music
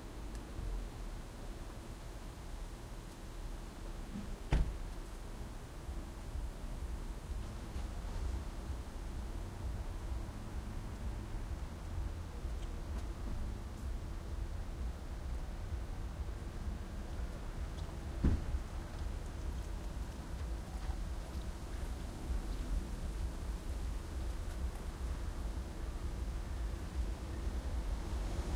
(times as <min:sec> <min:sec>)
0:05.8 0:28.5